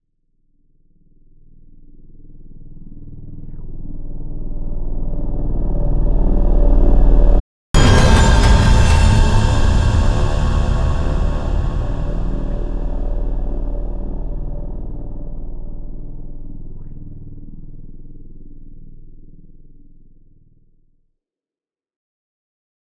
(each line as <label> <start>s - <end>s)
impact 7.8s - 16.3s